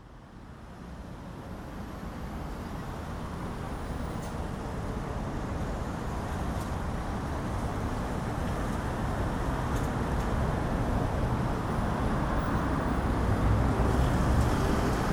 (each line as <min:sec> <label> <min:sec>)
0:00.0 constant drone of traffic 0:15.1